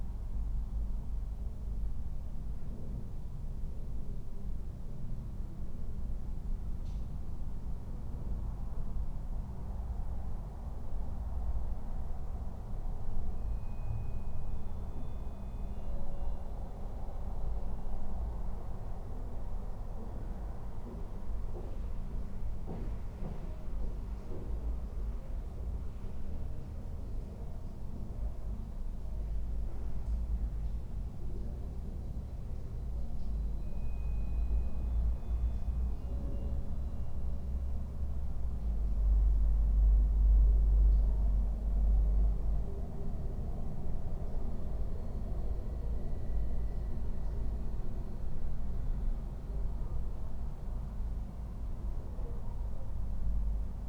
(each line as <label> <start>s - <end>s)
softened sounds of the city 0.0s - 53.8s